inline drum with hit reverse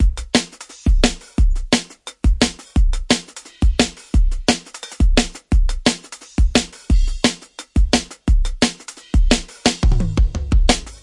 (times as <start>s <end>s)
9.7s 11.0s